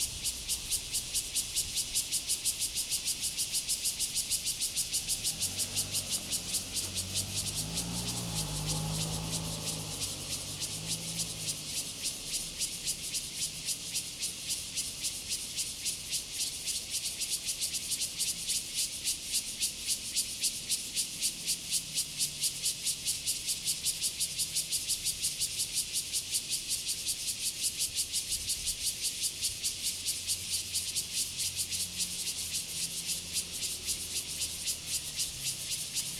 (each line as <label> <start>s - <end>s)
Traffic Sound 0.0s - 15.2s
Cicadas sound 0.0s - 36.1s
Traffic Sound 29.4s - 36.1s